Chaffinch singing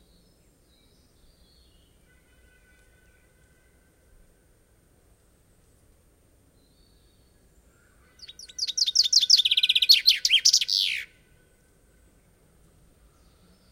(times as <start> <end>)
8.1 11.2